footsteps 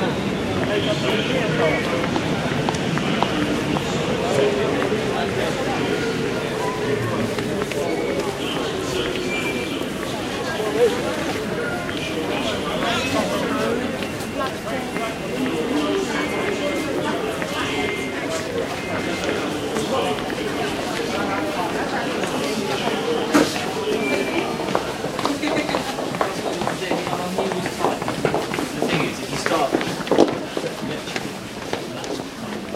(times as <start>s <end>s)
22.1s 32.7s